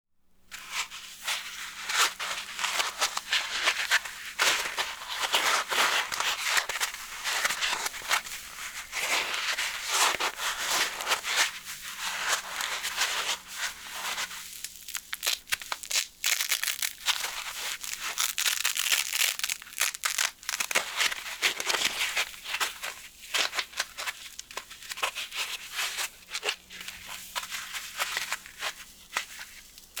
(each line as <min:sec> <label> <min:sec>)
0:01.4 crushing and tearing expanded polypropylene packaging foam 0:30.0